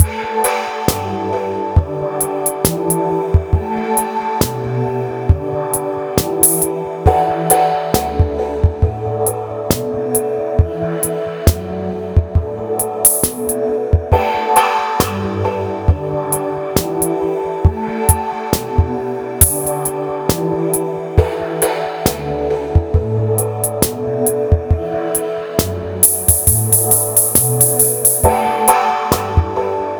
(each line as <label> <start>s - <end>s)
multisamplechoir 0.0s - 29.9s